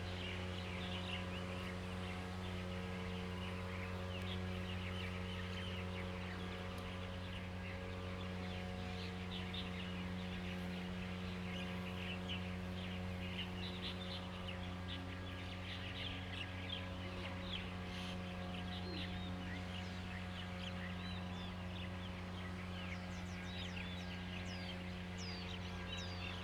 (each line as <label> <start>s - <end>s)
Birds singing 0.0s - 26.4s
Lawn mower 0.0s - 26.4s